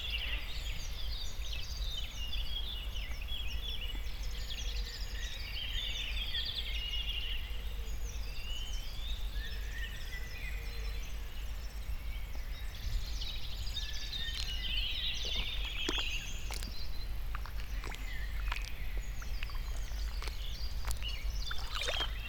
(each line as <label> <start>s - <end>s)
puddles 14.0s - 22.2s